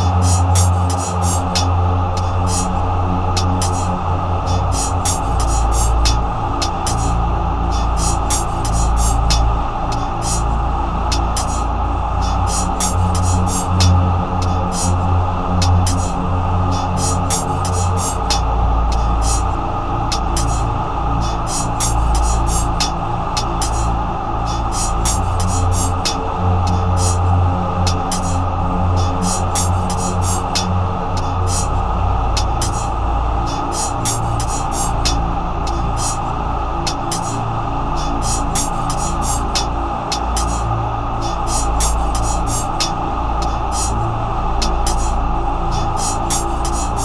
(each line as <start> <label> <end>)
0.0 CHOIR 47.0